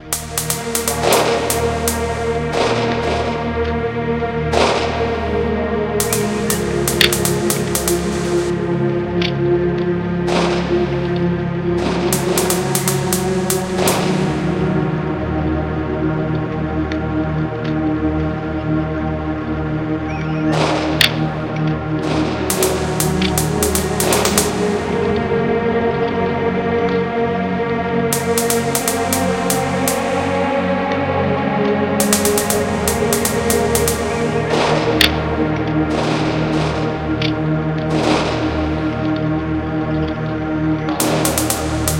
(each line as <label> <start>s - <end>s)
fire 0.0s - 3.5s
snare beat 0.0s - 3.5s
shots 0.0s - 3.7s
strings 0.0s - 41.9s
shots 4.5s - 5.4s
snare beat 4.6s - 5.2s
fire 5.9s - 18.9s
snare beat 6.0s - 8.5s
shots 6.0s - 8.6s
shots 10.3s - 11.2s
shots 11.8s - 14.8s
snare beat 11.8s - 14.7s
birds 20.0s - 20.8s
snare beat 20.5s - 21.2s
shots 20.5s - 21.4s
fire 20.6s - 25.2s
shots 22.0s - 25.3s
snare beat 22.0s - 25.2s
fire 28.1s - 30.5s
snare beat 28.1s - 30.6s
shots 28.1s - 30.8s
fire 31.6s - 41.9s
snare beat 32.0s - 35.2s
shots 32.0s - 39.1s
snare beat 35.9s - 36.9s
shots 40.9s - 41.9s
snare beat 41.0s - 41.9s